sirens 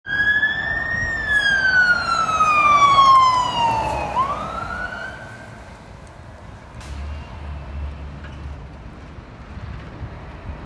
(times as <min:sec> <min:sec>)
0:00.0 0:05.9